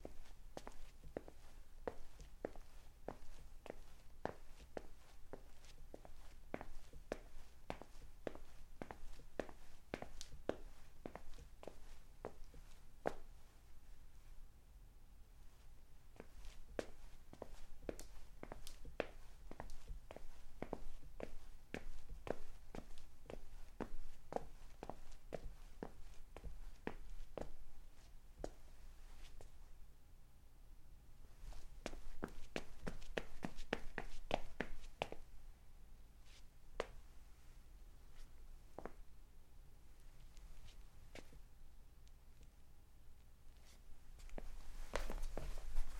43.6s footsteps 45.9s

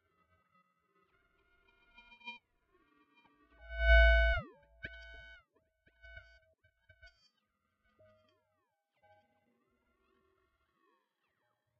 3.7s Digital Modulation 4.5s

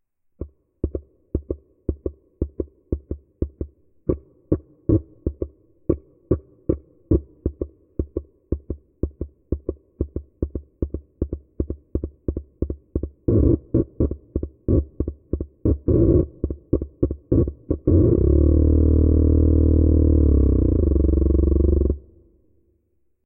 13.3s kazoo-like sound 15.0s
15.6s kazoo-like sound 22.2s

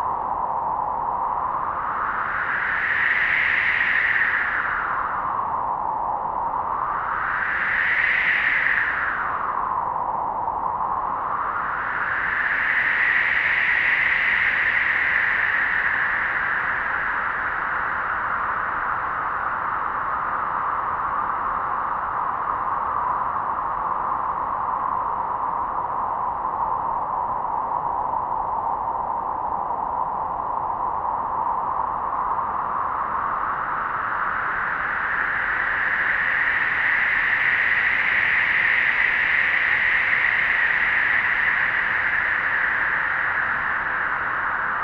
0.0s Arctic Winds 44.8s

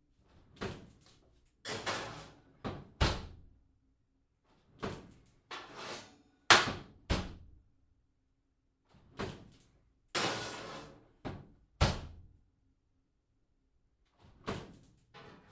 1.7s Oven door opens and closes 3.4s
9.0s Oven door opens and closes 9.6s
14.2s Oven door opens and closes 15.5s

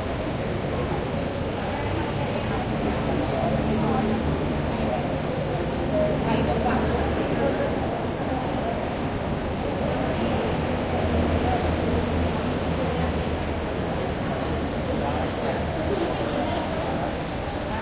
0.0s Subway 17.8s

